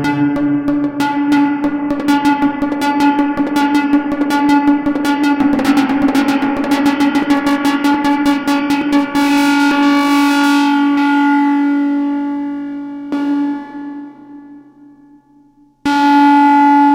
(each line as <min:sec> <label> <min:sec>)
0:00.0 Oscillator going through a heavily modulated filter 0:14.8